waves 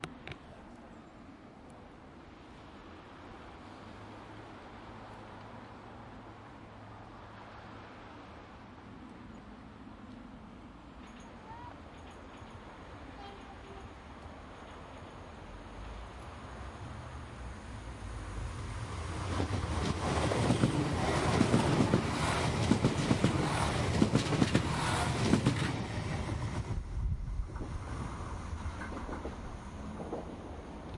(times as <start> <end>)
0.2 14.1